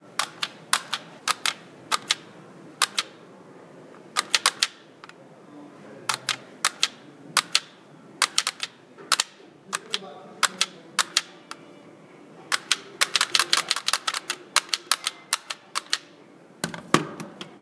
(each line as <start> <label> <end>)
0.2 joystick 2.2
0.2 buttons 3.2
2.8 joystick 3.1
4.0 buttons 5.2
4.2 joystick 5.2
6.1 joystick 11.6
6.1 buttons 11.8
12.5 joystick 16.1
12.5 buttons 16.8